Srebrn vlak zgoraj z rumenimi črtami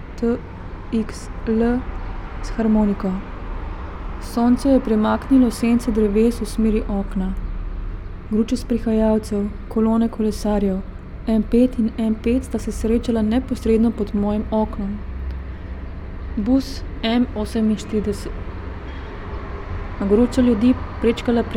4.2s 7.4s, 16.4s 18.5s

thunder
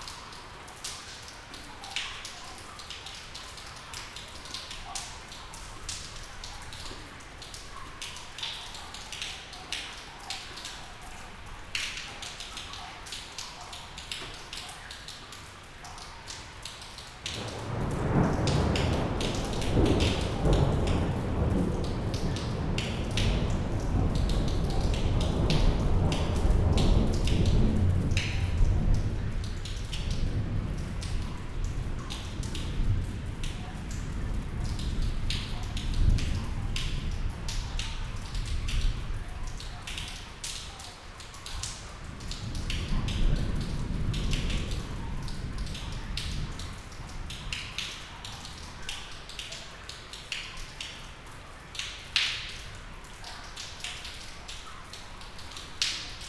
17.4s 39.2s, 42.0s 47.8s

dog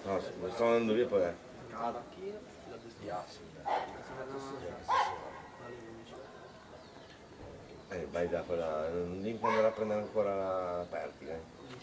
3.7s 4.0s, 4.9s 5.5s, 9.4s 9.8s

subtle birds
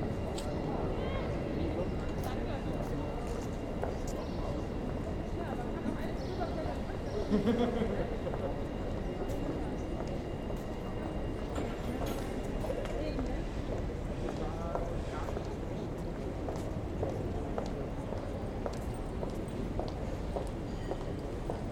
6.0s 7.4s

